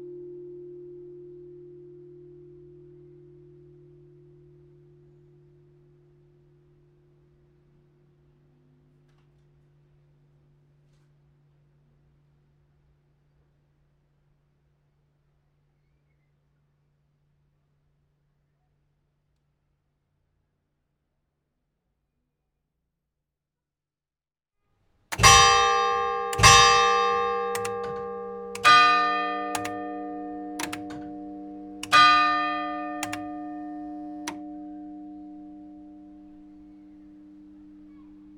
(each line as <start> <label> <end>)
25.1 Carillon 38.3